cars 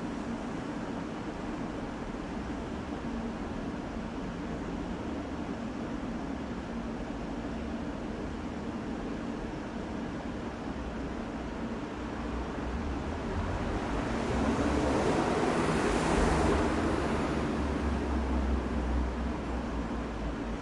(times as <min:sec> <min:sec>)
0:12.4 0:20.6